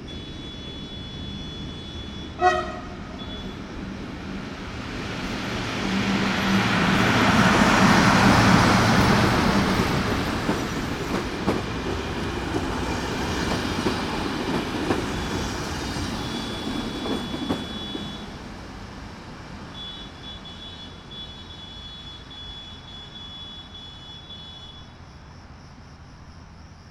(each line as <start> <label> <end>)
0.0 traffic 26.9
0.0 train 26.9
0.0 crickets 26.9